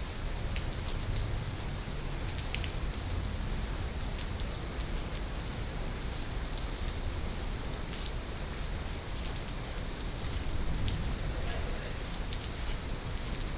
0.0s Rain 13.5s

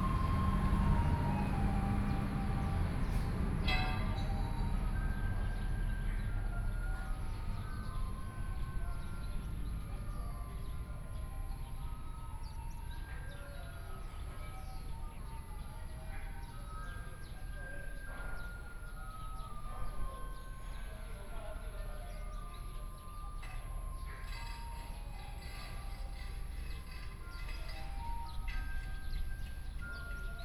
0.0s Garbage Truck 10.6s
0.0s Traffic Sound 13.3s
4.2s Birdsong sound 30.4s
14.2s Traffic Sound 30.4s
21.6s Garbage Truck 30.4s

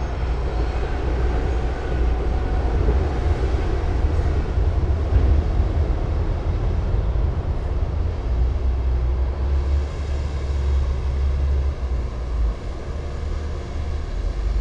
0.0s bulldozers 14.6s
0.0s excavators 14.6s
0.0s trucks during earthwork operations 14.6s

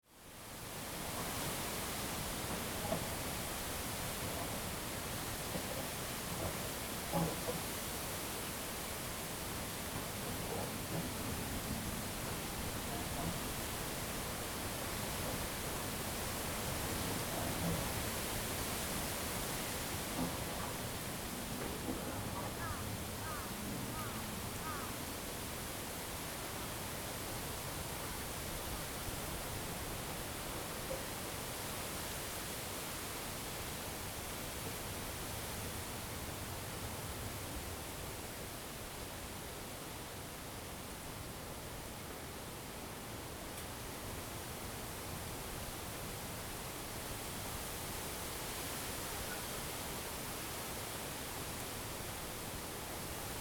0.0s wind 53.4s

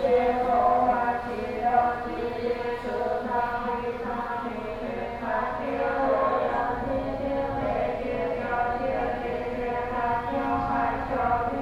0.0s Walking inside the temple 11.6s

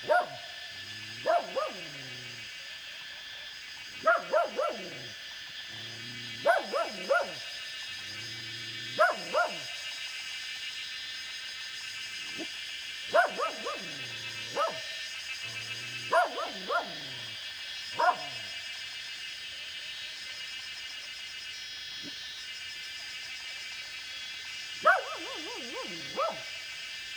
0.0s Dogs barking 2.6s
0.0s Cicada sounds 27.1s
3.8s Dogs barking 10.0s
12.2s Dogs barking 18.6s
24.7s Dogs barking 26.7s

